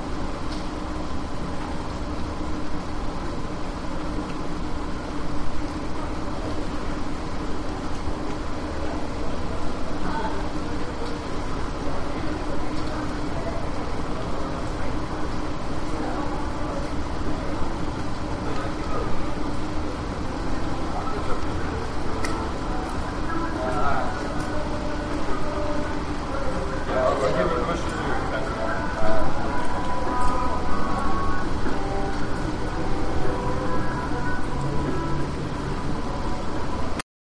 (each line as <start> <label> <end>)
0.0 rain 37.0
5.7 residents talking in the background 37.0